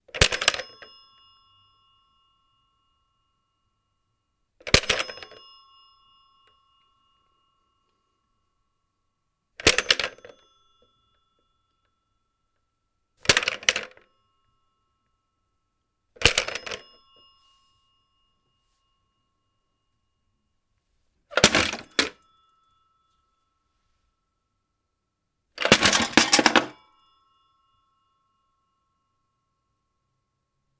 0.0s bell is vibrating 30.7s
4.6s handset is rattling 5.4s
9.6s handset is rattling 10.5s
13.2s handset is rattling 14.0s
16.2s handset is rattling 17.0s
21.3s handset is rattling 22.2s
25.6s handset is rattling 26.8s

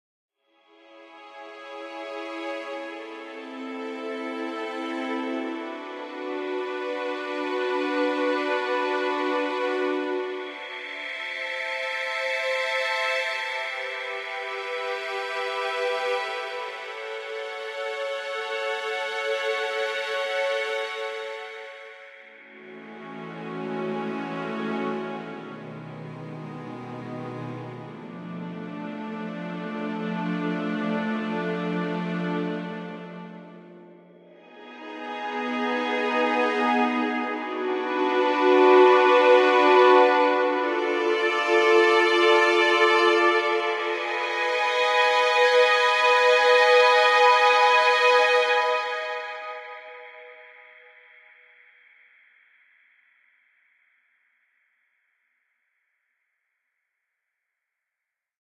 0.7s violin 51.0s
1.1s viola 50.6s

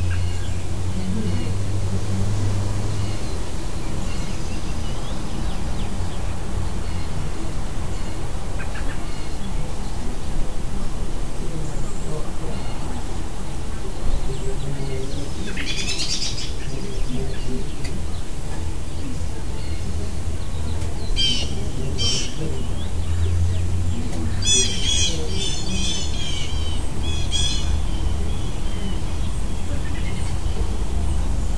0.0s robin calling 31.5s
2.8s Bluejays 31.5s

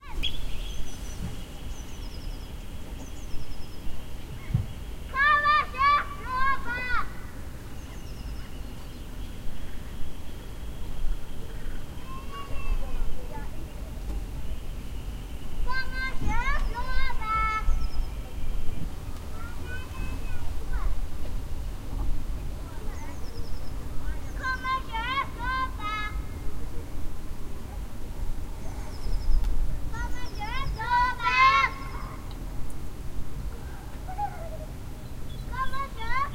0.0s children playing 1.3s
4.3s children playing 9.0s
10.9s children playing 14.5s
15.6s children playing 28.8s
29.7s children playing 32.5s
33.3s children playing 36.3s

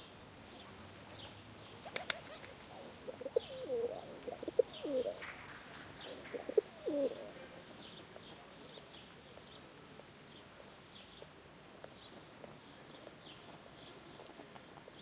0.5s birds singing 9.7s
0.5s pigeons 10.5s

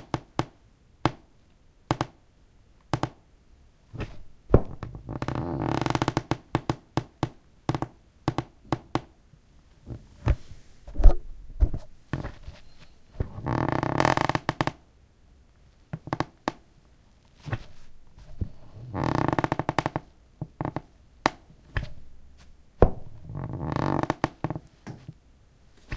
4.0s squeaky floorboards 6.8s
12.2s squeaky floorboards 14.8s
17.4s squeaky floorboards 20.8s
22.8s squeaky floorboards 25.2s

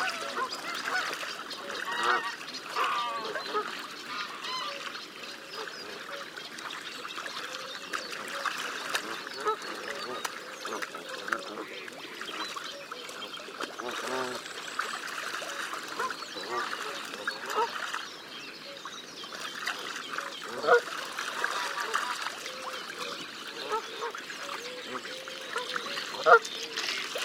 0.0s Other geese can be heard in the background 4.9s
0.0s mallard 5.0s
0.0s Canada geese with one or two greylag geese bathing 27.2s
0.0s reed warbler 27.2s
7.3s mallard 18.0s
20.1s mallard 27.2s
20.4s Other geese can be heard in the background 27.1s

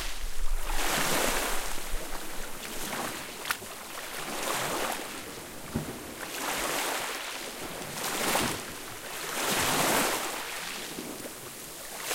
0.0s waves 12.1s

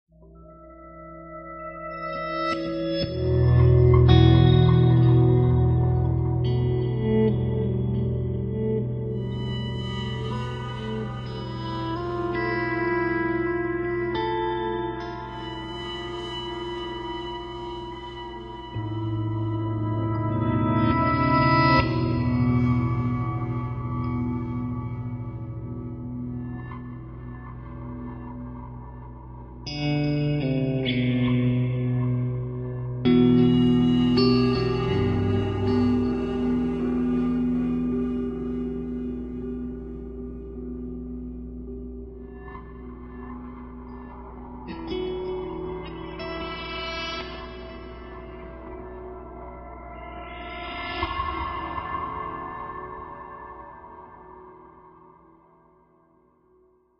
0.0s guitar 56.9s

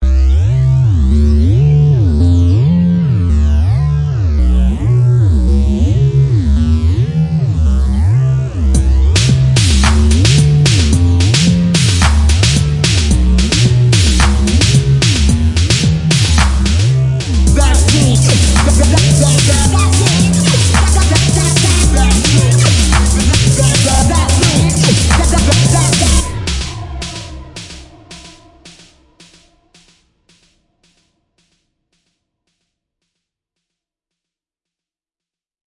8.8s drum 31.6s
15.7s vocals 29.9s

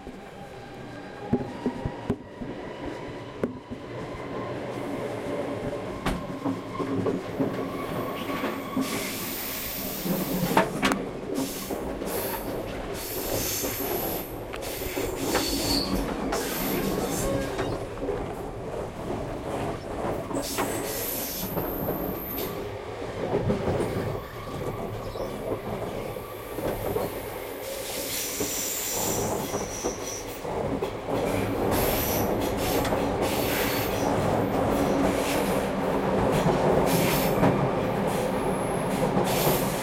0.0s train 39.8s

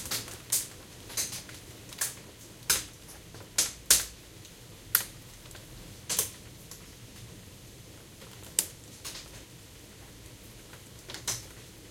0.0s Rain 11.9s

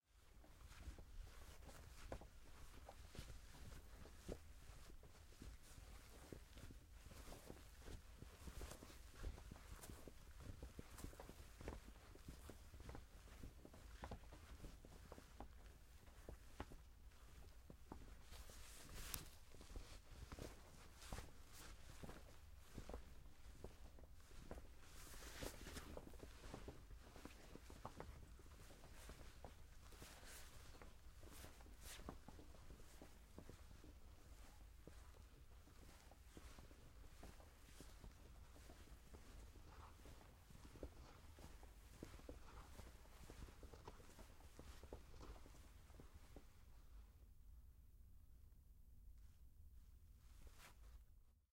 0.0s jacket swaying back and forth as someone walks 47.2s
50.2s jacket swaying back and forth as someone walks 51.2s

